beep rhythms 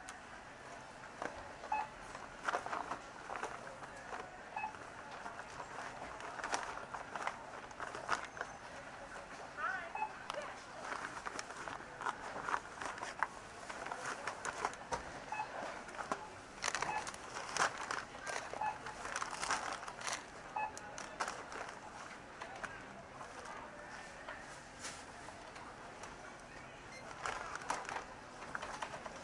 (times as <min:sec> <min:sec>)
0:04.6 0:04.8, 0:09.9 0:10.2, 0:16.8 0:17.1, 0:20.6 0:20.8